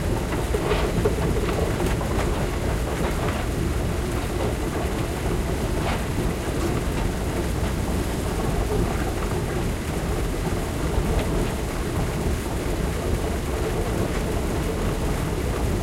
Subway escalator 0.0 - 15.8

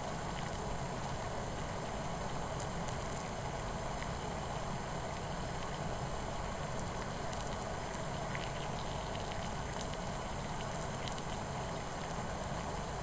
Boiling water in a saucepan 0.0 - 13.0

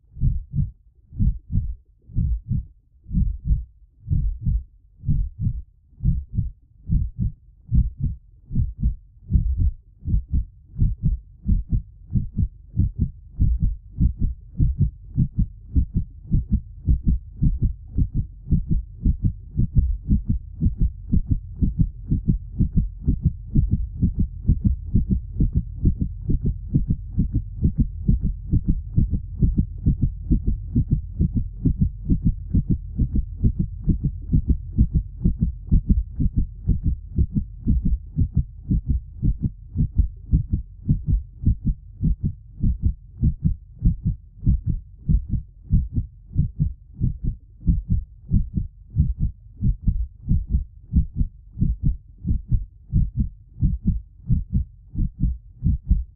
heartbeat 0.0 - 56.1

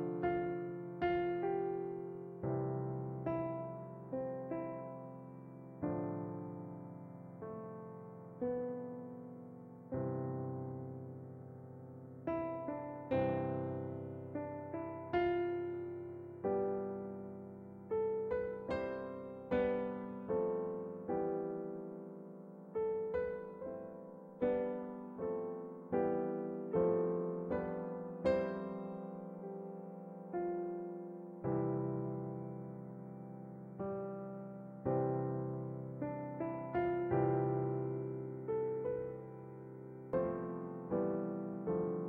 christmas carols on piano 0.0 - 42.0

